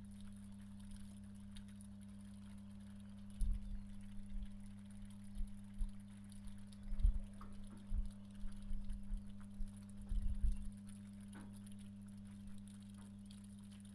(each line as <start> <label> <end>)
0.0 Snow is melting and dripping from the roof 13.9